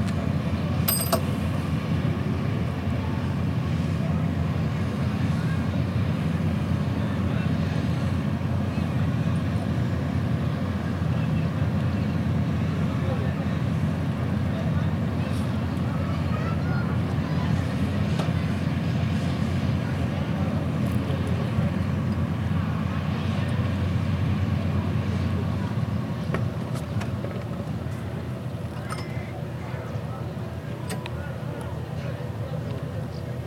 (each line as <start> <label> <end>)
0.0 Harbour sounds 33.4
0.0 industrial noises 33.4
2.2 people talking 9.8
10.4 people talking 33.4